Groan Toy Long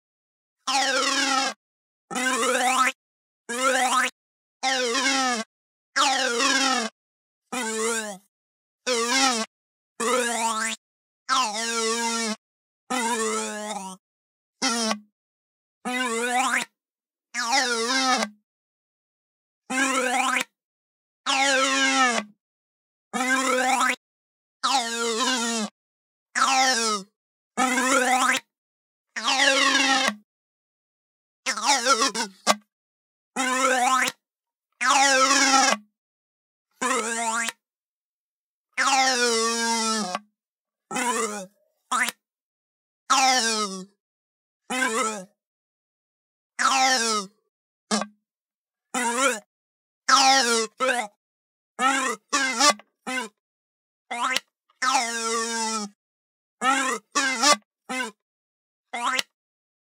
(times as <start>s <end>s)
11.3s 11.6s, 41.0s 42.2s, 46.6s 48.2s